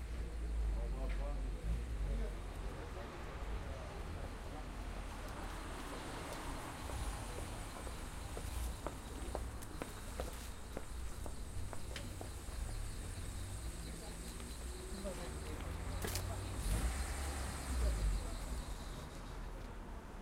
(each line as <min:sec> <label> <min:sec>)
0:00.0 Pedestrians passing by talking to each other 0:20.2
0:00.0 cars passing and stopping 0:20.2
0:05.8 footsteps 0:12.7